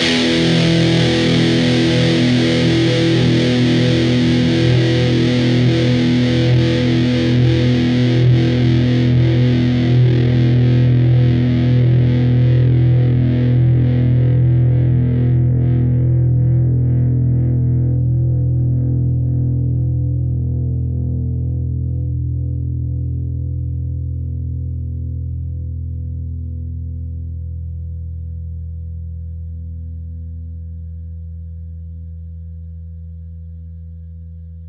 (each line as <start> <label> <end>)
0.0 distorted guitar 34.6